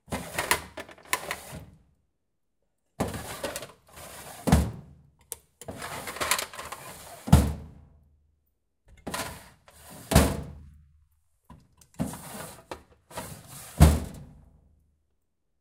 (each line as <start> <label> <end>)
0.1 old metal filing cabinet having its draws opened and closed 1.7
3.0 old metal filing cabinet having its draws opened and closed 4.8
5.6 old metal filing cabinet having its draws opened and closed 7.6
9.0 old metal filing cabinet having its draws opened and closed 10.4
12.0 old metal filing cabinet having its draws opened and closed 14.3